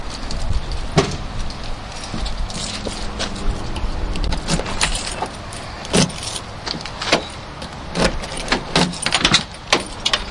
1.5s keys 10.3s
1.9s Getting into the car 10.3s

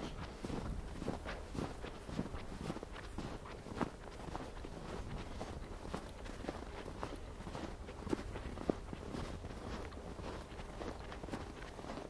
0.0s walking through the snow 12.0s

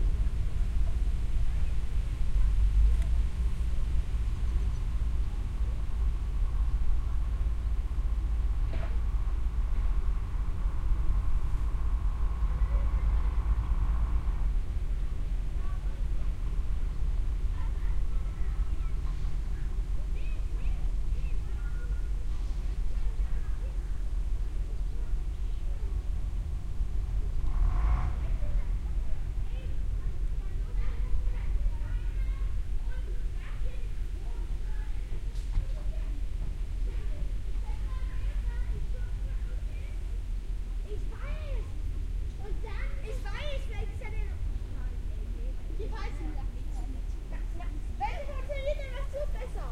0.0s ship 49.7s

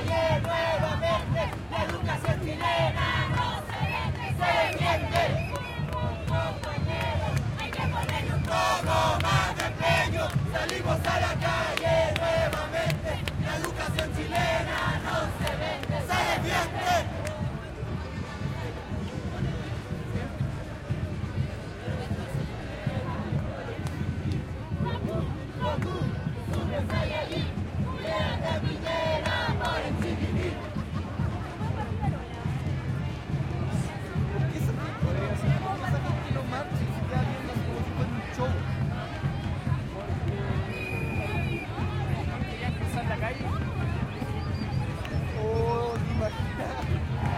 0.0s crowd 47.3s
0.0s drums 47.3s

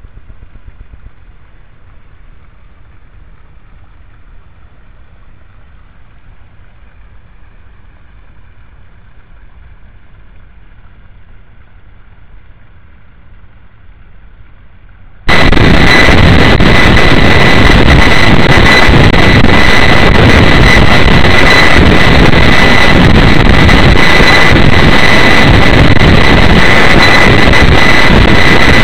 0.0s small pond 15.2s

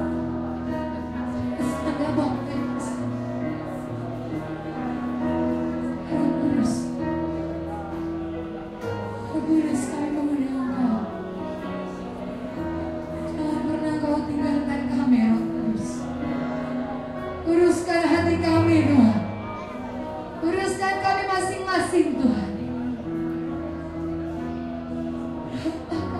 0.0s congregation 26.1s
0.0s gospel music 26.1s

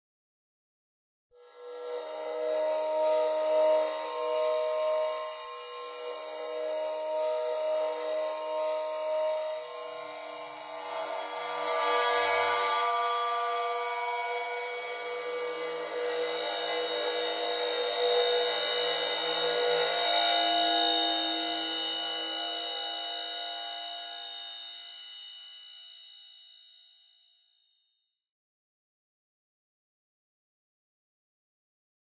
1.4s bowed cymbals 25.7s

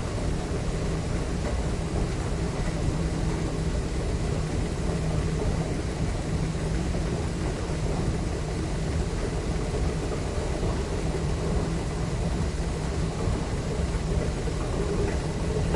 0.0s Subway escalator near belt 15.7s

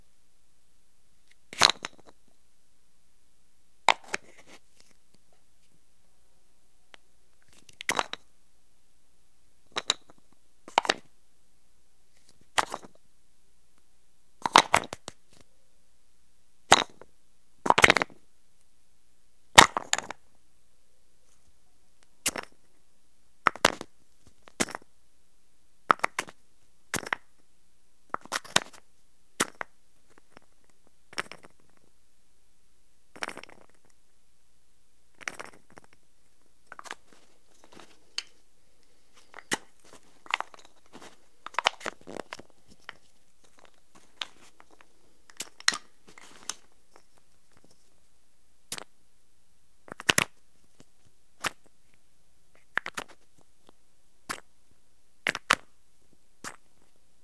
1.3s wooden Russian matryoshka doll opening and closing 2.2s
3.9s wooden Russian matryoshka doll opening and closing 5.0s
28.1s wooden Russian matryoshka doll opening and closing 28.8s
35.1s wooden Russian matryoshka doll opening and closing 36.0s
36.7s wooden Russian matryoshka doll opening and closing 38.4s
39.2s wooden Russian matryoshka doll opening and closing 47.7s
49.9s wooden Russian matryoshka doll opening and closing 51.7s
52.6s wooden Russian matryoshka doll opening and closing 53.2s
55.2s wooden Russian matryoshka doll opening and closing 55.7s

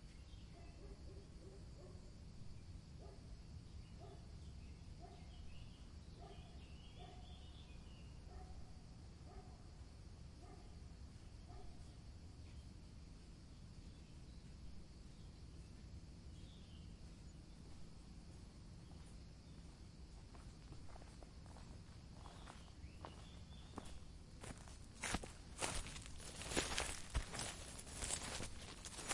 3.0s birds sounds 8.6s
6.2s dogs barking 7.3s
9.2s dogs barking 9.6s
13.8s birds sounds 29.1s

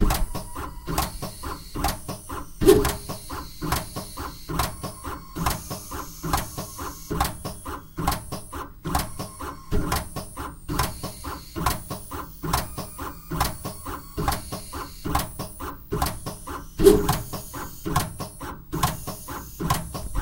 0.0s Automatic paste dispensing machine 20.2s

